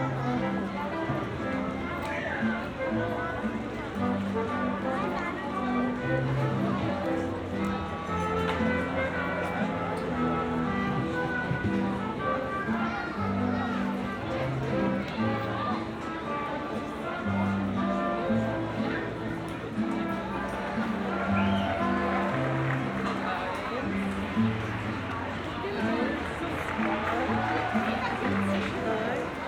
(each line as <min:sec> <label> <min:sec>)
0:00.0 people of all ages 0:29.4